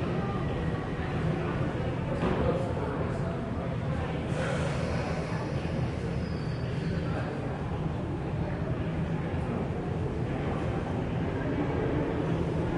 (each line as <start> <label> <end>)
0.0 passenger voices 12.7